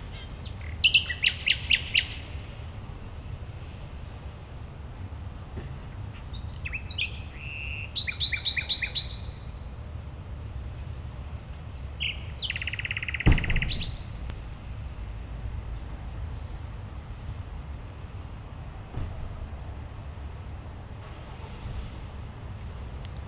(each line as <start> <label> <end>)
6.2 nightingale 9.6
11.8 nightingale 14.4